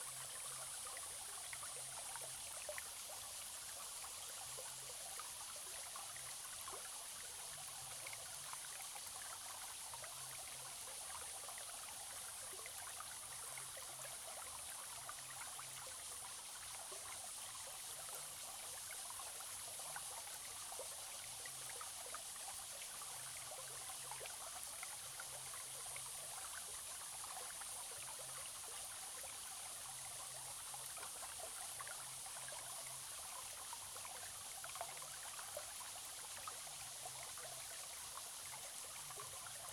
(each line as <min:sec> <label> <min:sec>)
0:00.0 Small streams 0:39.7